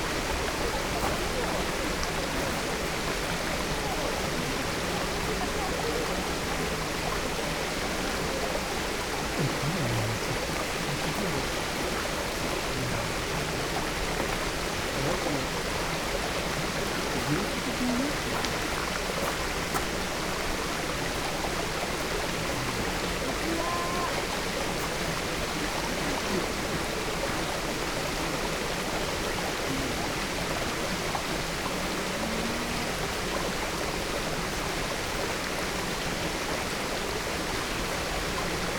0.0s voices 34.3s
0.0s waterfall 38.7s

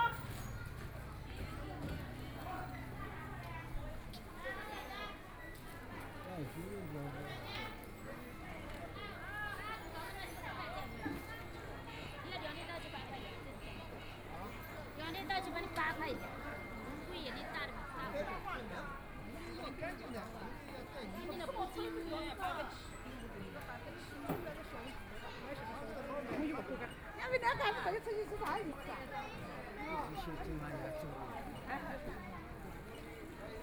0.0s Walking in the street market 33.6s

